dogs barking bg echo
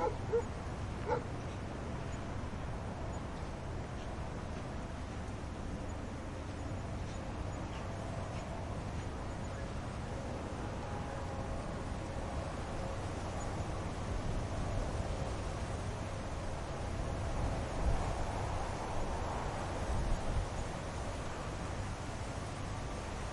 0:00.0 0:01.3

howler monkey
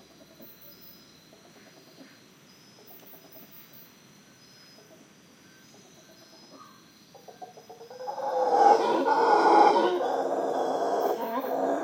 0:06.6 0:11.8

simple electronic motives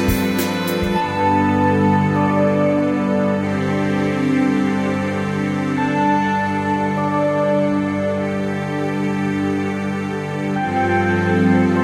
0:00.0 0:04.6

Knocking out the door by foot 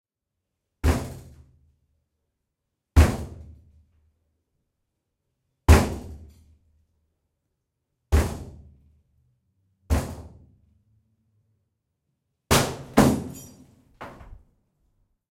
0:14.0 0:14.4

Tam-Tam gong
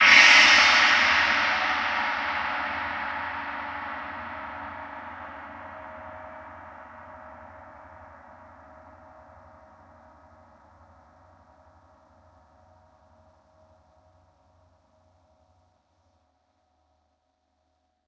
0:00.0 0:13.9

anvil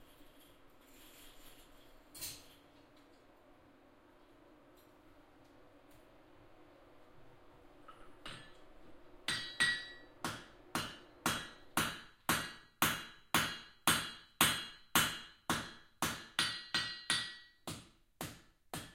0:09.3 0:18.9

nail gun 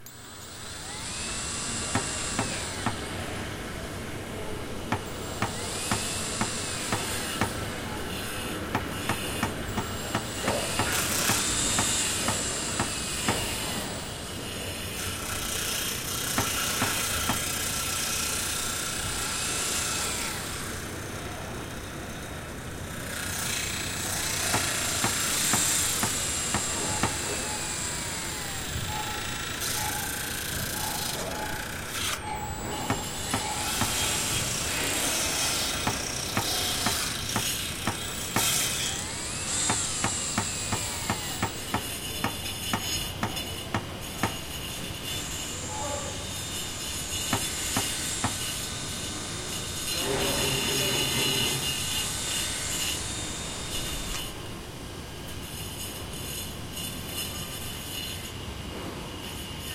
0:01.8 0:03.1, 0:04.9 0:14.0, 0:15.2 0:18.6, 0:23.4 0:44.6, 0:47.2 0:48.6

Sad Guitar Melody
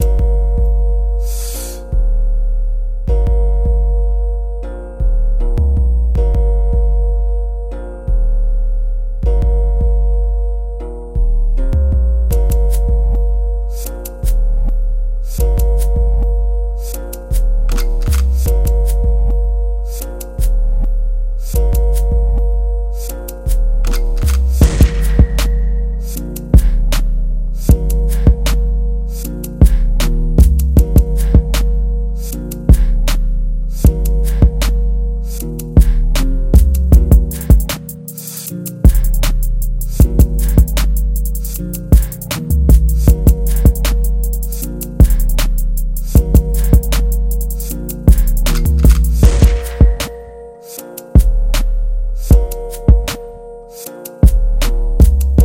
0:15.4 0:32.9, 0:46.0 0:55.4

